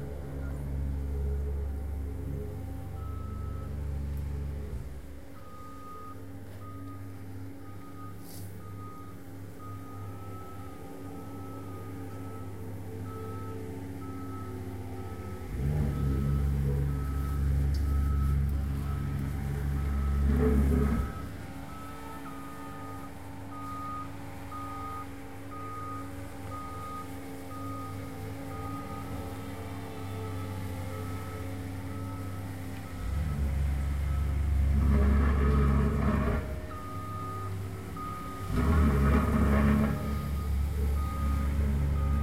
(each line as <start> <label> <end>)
19.6 Small paving roller, low growl, roar 21.4
34.6 Small paving roller, low growl, roar 36.8
38.4 Small paving roller, low growl, roar 40.4